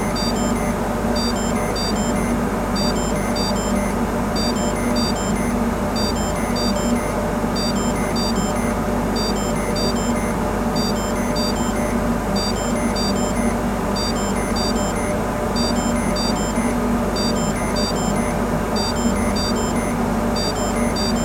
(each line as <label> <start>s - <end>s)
installation set in alarm 0.0s - 21.2s